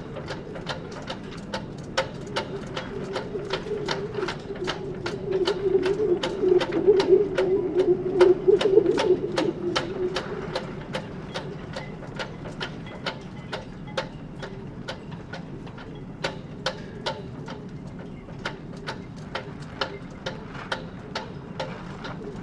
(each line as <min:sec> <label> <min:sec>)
0:00.0 flagpoles knocking and howling in the wind 0:22.4